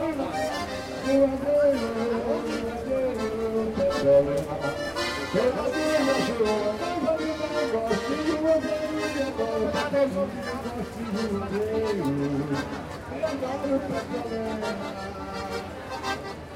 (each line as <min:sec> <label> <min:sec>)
0:00.0 sings a popular tune 0:16.4
0:00.0 Accordion player 0:16.5
0:00.0 pedestrians walking by and talking 0:16.5
0:00.0 traffic sound of a big city 0:16.5